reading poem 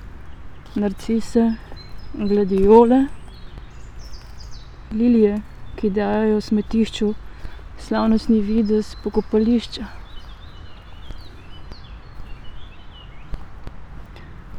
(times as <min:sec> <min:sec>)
0:00.0 0:03.4, 0:04.8 0:10.3